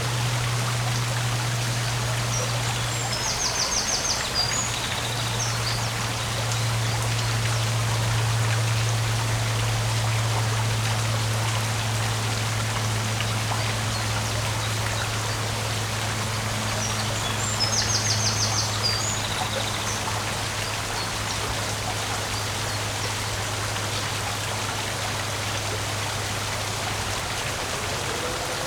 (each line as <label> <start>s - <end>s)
river as it passes the mill 0.0s - 28.6s